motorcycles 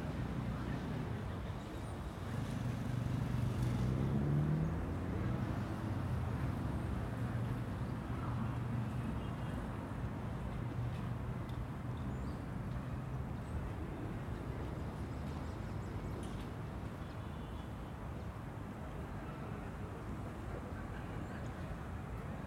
0:02.2 0:06.6

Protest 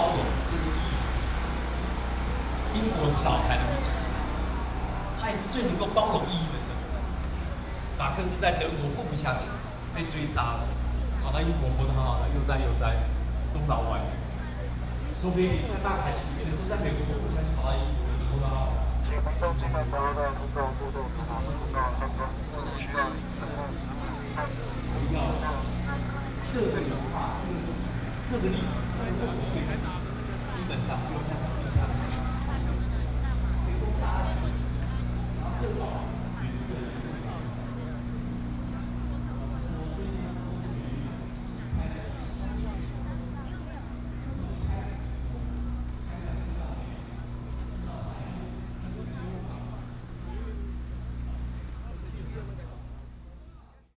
0:17.1 0:39.6

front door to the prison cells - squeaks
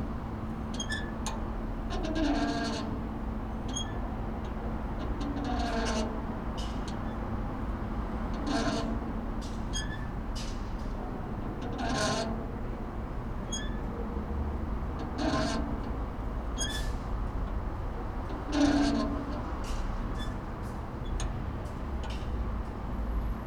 0:13.5 0:13.9, 0:16.6 0:17.0

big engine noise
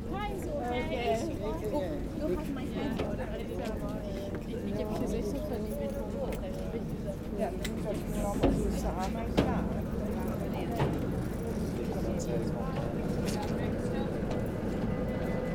0:09.2 0:15.5

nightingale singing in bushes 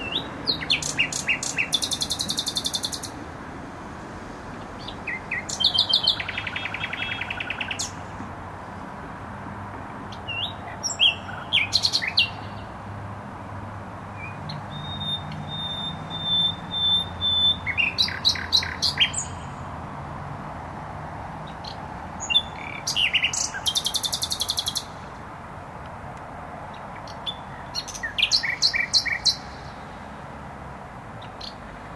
0:00.0 0:03.2, 0:04.6 0:08.8, 0:10.1 0:12.8, 0:14.0 0:19.8, 0:21.4 0:25.1, 0:26.7 0:30.0, 0:31.2 0:31.9

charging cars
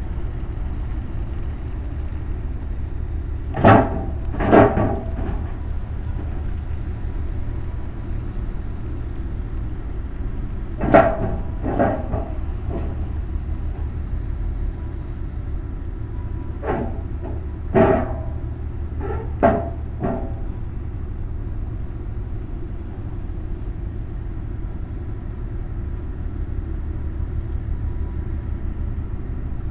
0:00.0 0:19.0

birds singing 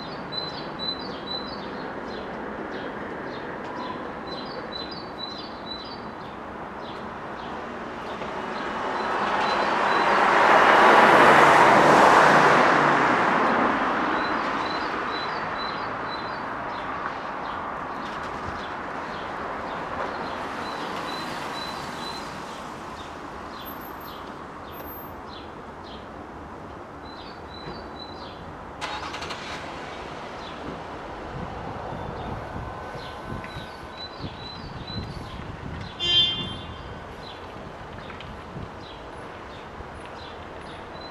0:00.0 0:10.2, 0:14.2 0:26.1, 0:27.0 0:28.5, 0:31.9 0:38.2

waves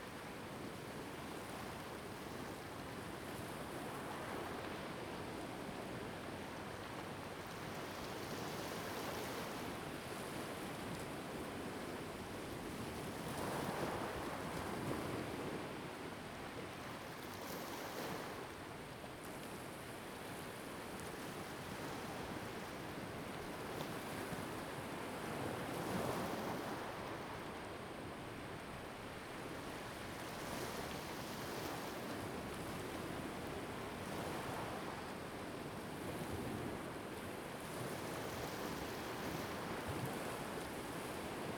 0:20.6 0:41.5

